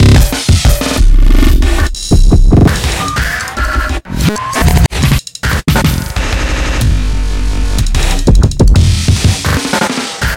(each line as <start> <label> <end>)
0.0 sequenced sections of percussion, unaccompanied 10.3